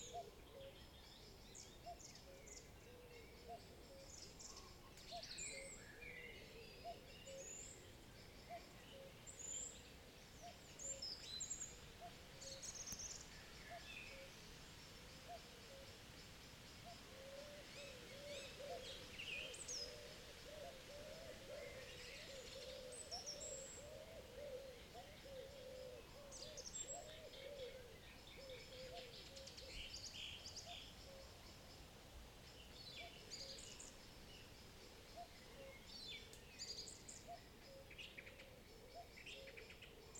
0.0s Cuckoo 0.9s
0.0s light rustling of the wind in the trees 40.1s
1.6s Cuckoo 14.5s
15.1s Cuckoo 16.1s
15.1s other birds join the evening chorus 31.6s
16.8s Cuckoo 31.6s
34.8s Cuckoo 40.1s

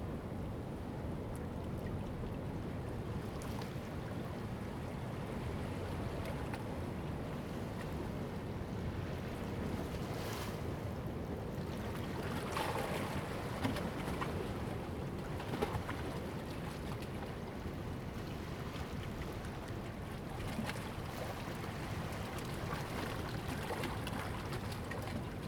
0.1s Waves and tides 25.4s

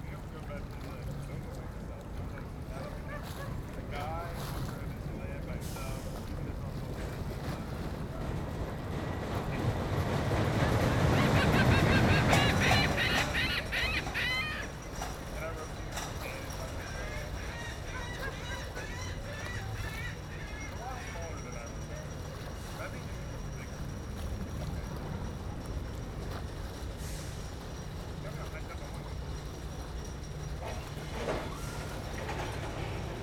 0.0s distant boat motoring out into the bay 33.2s
0.0s roller coaster run with no passengers 33.2s
0.0s waves 33.2s
10.3s chatters 22.0s
10.5s seagulls 22.0s

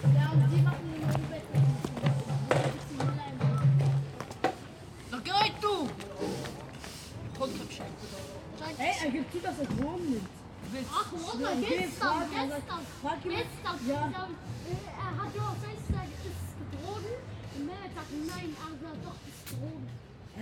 0.0s children 6.1s
4.6s sweep the leaves from the sidewalk 20.4s
10.7s children 20.0s

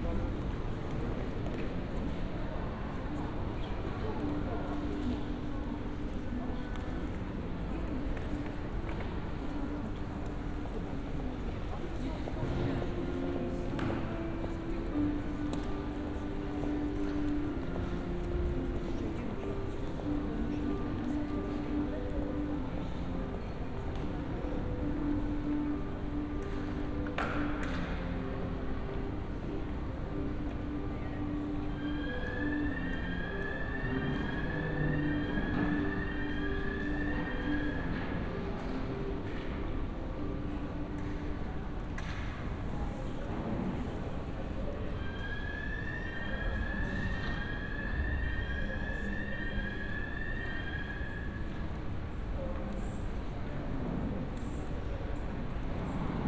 11.9s piano music 41.7s

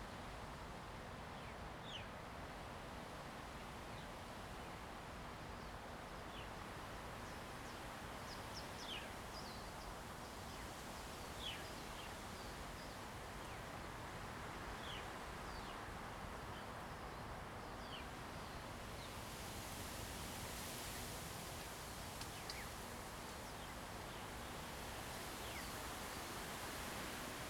0.0s Wind 27.4s

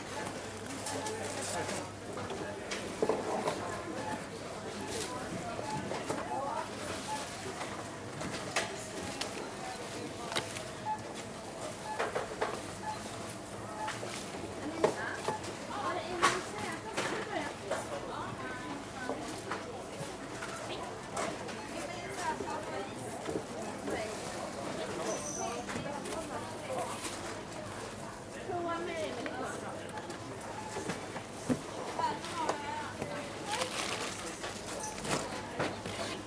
0.0s supermarkt cash desk 28.7s
29.4s supermarkt cash desk 36.2s

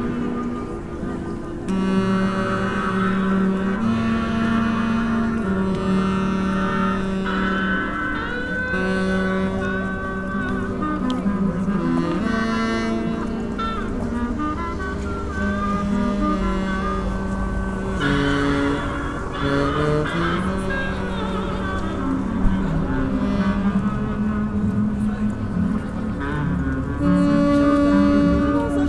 0.0s old guy busking 28.8s

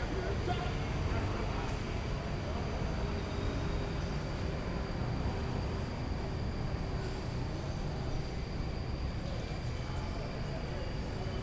0.0s bus 11.4s

